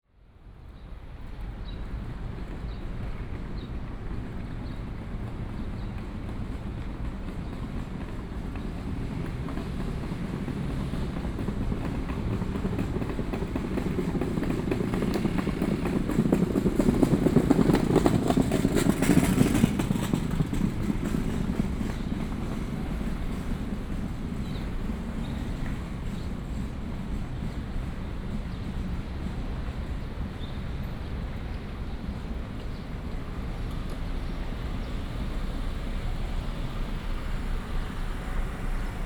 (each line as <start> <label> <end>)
0.4 Walking on the road 39.0
4.6 Construction noise 39.0